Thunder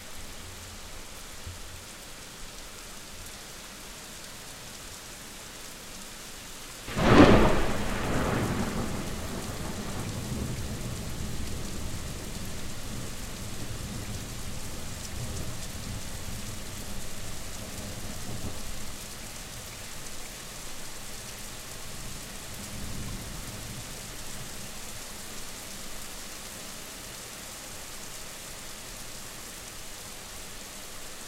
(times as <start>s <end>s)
6.9s 13.2s